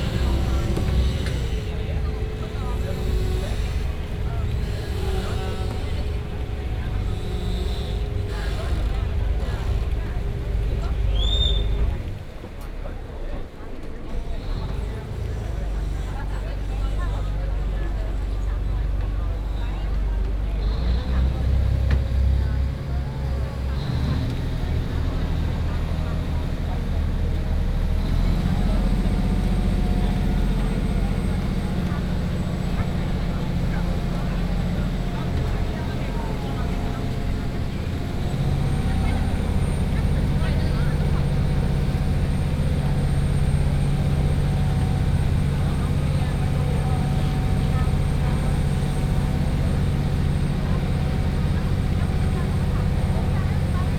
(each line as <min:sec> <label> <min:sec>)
0:00.0 people 0:53.9
0:11.1 occasional whistling 0:11.8